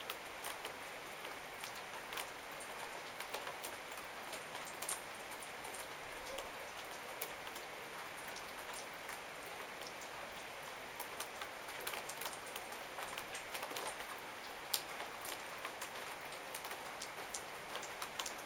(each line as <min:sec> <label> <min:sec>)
0:00.0 Rainfall on a wooden veranda 0:18.4